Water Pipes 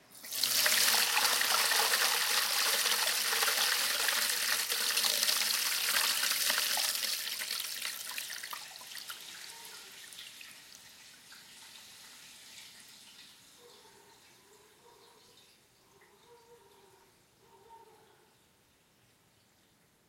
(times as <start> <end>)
0.0 13.4